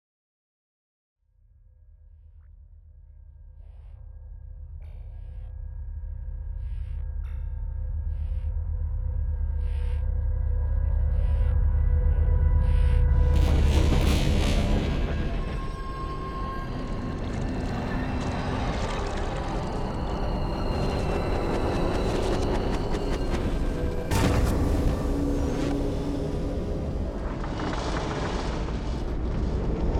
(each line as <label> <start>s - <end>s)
deep bass 1.8s - 17.7s
evolving textures 12.6s - 29.9s